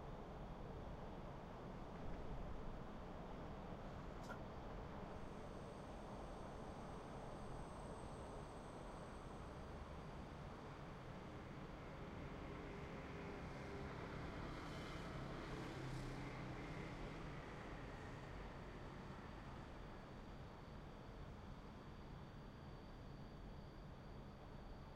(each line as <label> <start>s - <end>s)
wind 0.0s - 24.9s
Crickets can be heard chirping in the distance 0.4s - 24.9s
cars on a usually busy road 11.9s - 18.9s